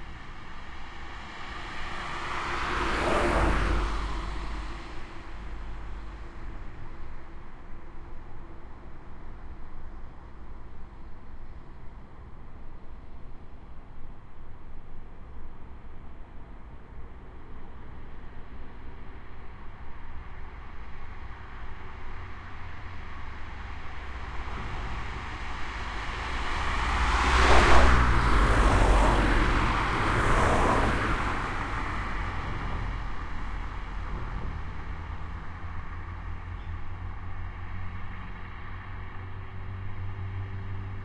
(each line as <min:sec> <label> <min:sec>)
0:00.0 Traffic 0:41.0